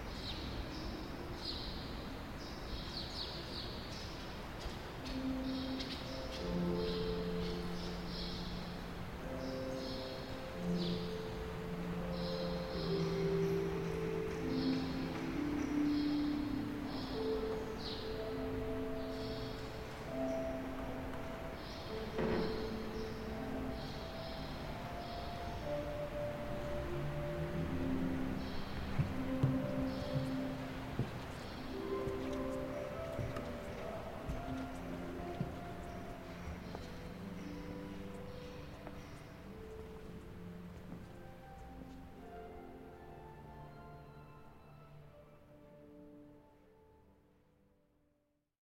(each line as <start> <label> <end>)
4.9 harp 46.8